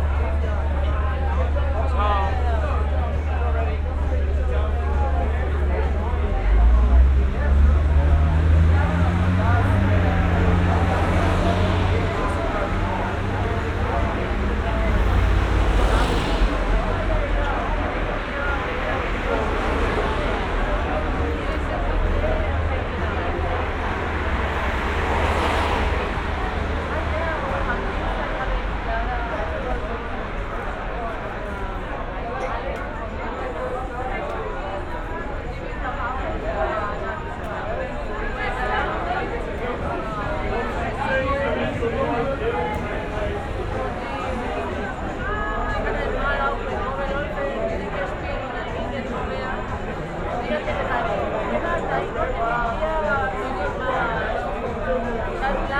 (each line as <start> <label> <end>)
0.0 noise from inside the pub 55.7
0.0 traffic noise 55.7